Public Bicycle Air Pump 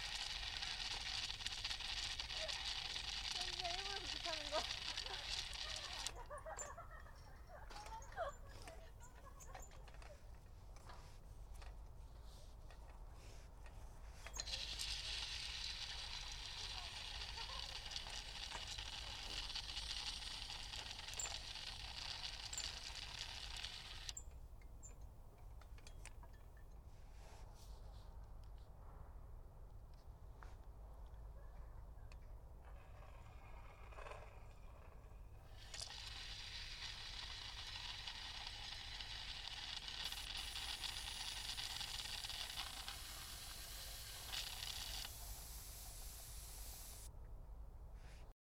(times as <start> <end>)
0.0 6.8, 7.7 24.3, 32.6 47.1